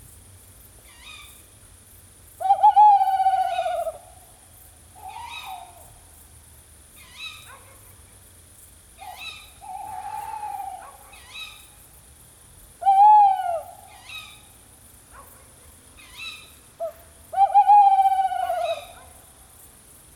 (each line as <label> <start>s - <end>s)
Sonic ballet of tawny owls 2.4s - 4.3s
Sonic ballet of tawny owls 5.0s - 6.0s
Sonic ballet of tawny owls 9.0s - 11.7s
Sonic ballet of tawny owls 12.8s - 14.5s
Sonic ballet of tawny owls 16.0s - 19.2s